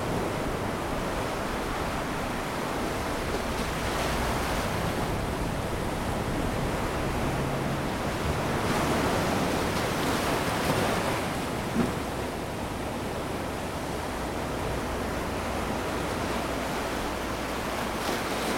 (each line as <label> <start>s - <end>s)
waves breaking on beach 0.0s - 18.5s